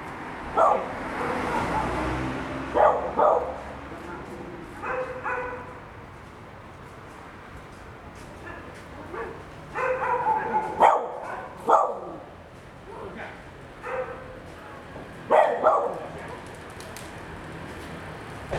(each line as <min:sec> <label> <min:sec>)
0:00.0 Traffic Sound 0:18.5
0:00.5 Dogs barking 0:02.1
0:02.7 Dogs barking 0:05.8
0:08.5 Dogs barking 0:12.3
0:13.2 Dogs barking 0:14.4
0:15.3 Dogs barking 0:16.2